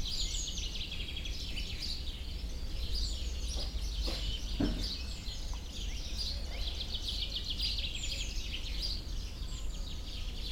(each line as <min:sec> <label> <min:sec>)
0:00.0 sparrows 0:10.5